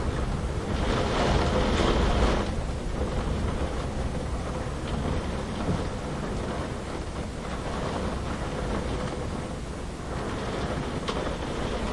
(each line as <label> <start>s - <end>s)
wind noises 0.0s - 11.9s